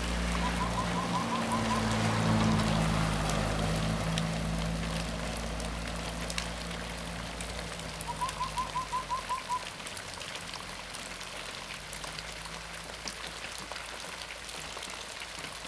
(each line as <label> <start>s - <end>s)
Rain sound 0.0s - 15.6s